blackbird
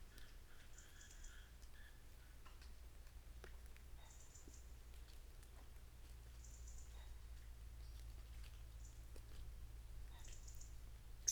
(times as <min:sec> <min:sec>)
0:10.2 0:11.3